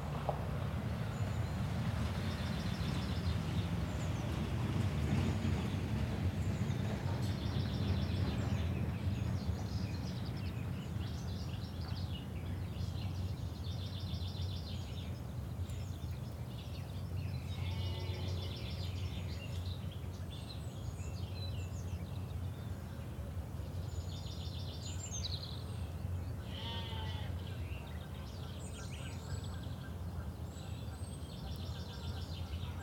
0.0s many birds in the woodland area 32.8s
5.6s Ewes and lambs together in the field 32.8s

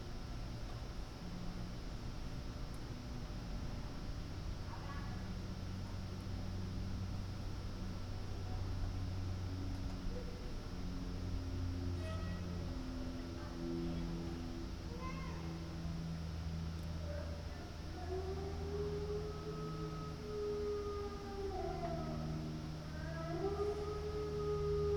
0.0s plane 24.9s
17.8s howling dog 24.9s

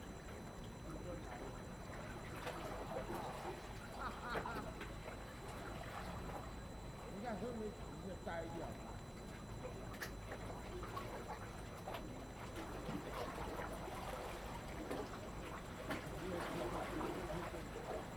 1.3s Waves 7.8s
10.2s Waves 18.1s

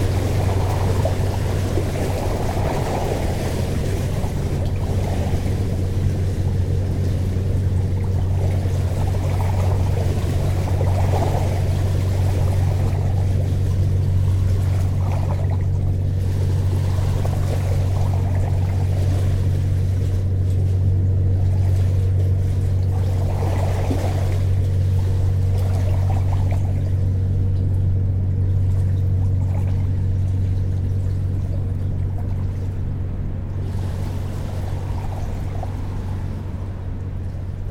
0.0s river flowing 19.8s
0.0s boat passing by on the Seine river 37.7s

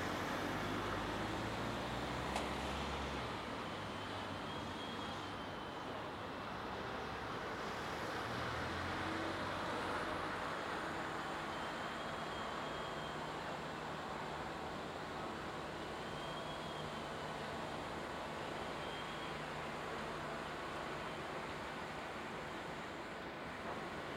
0.0s cars are driving across the bridge 24.1s
9.7s construction workers 24.1s
19.4s a train passes under my feet 24.1s

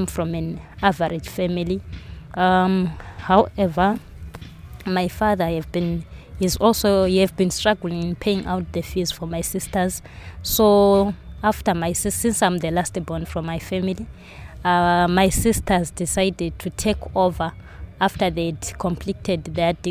0.0s Linda tells about the challenges 1.8s
0.0s market, shops, bars and taxi rank 19.9s
2.4s Linda tells about the challenges 4.0s
4.8s Linda tells about the challenges 19.9s

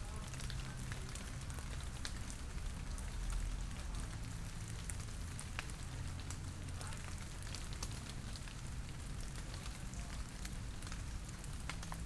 4.9s rain drops falling from the leaves 12.0s

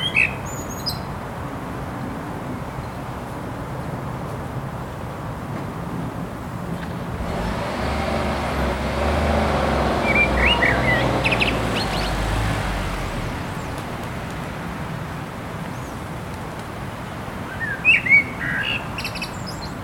0.0s bird song 1.1s
0.0s traffic noise 19.8s
9.9s bird song 12.5s
17.5s bird song 19.8s

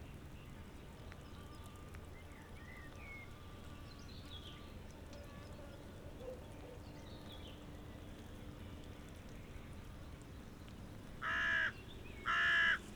11.2s crows 12.9s

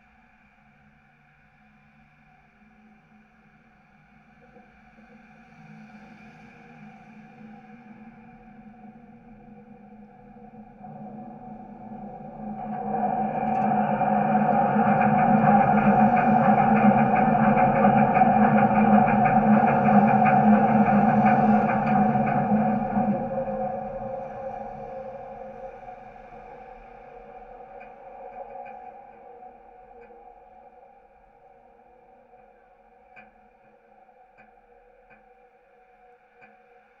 8.0s Vibrations in the elevated structure as a UBahn train passes 35.6s

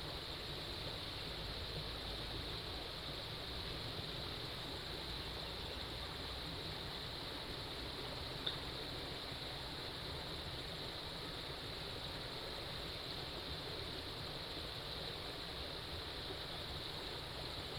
0.0s Stream 17.7s

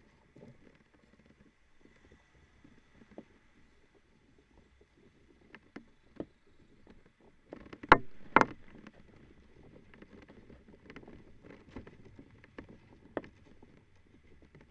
0.0s small plastic flag-pole 14.7s

